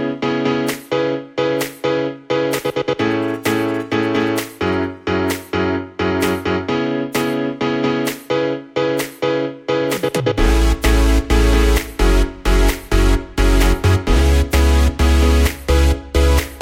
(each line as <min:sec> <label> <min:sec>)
0:09.7 synth 0:16.6